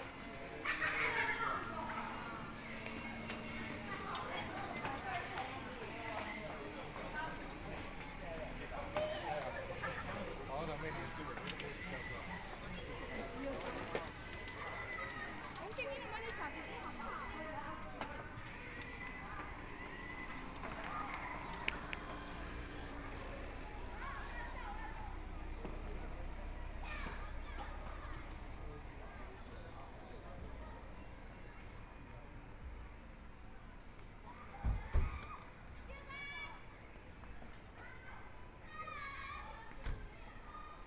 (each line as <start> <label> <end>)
0.0 children are playing games 40.8